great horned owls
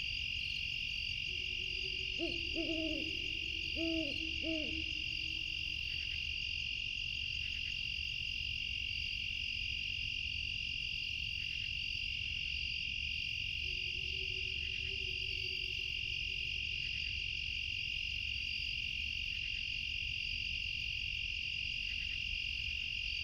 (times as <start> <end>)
1.1 6.2, 13.6 17.2